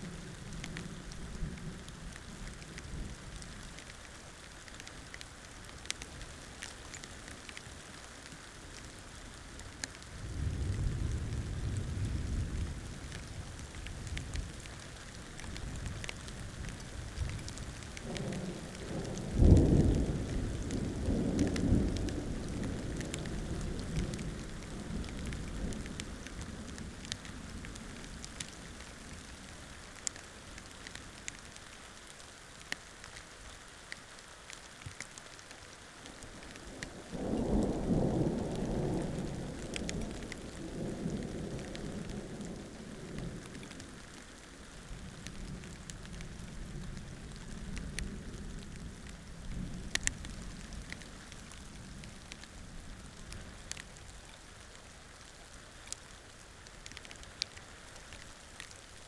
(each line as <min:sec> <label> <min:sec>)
0:00.0 Storm 0:34.0
0:34.6 Storm 0:59.0